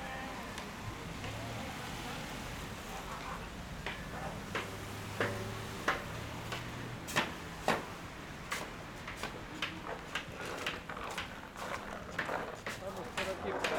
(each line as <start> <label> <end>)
0.1 Workers shovel snow off the sidewalk 13.7